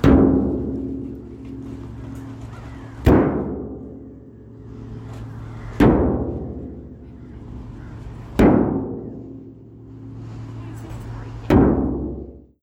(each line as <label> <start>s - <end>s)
Giant metal tub impacts 0.0s - 12.5s